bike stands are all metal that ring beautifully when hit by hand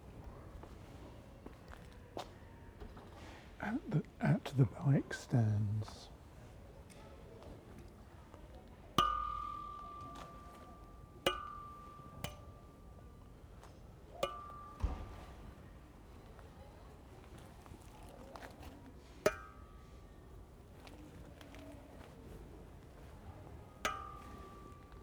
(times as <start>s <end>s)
9.0s 15.9s, 19.2s 21.2s, 23.8s 25.0s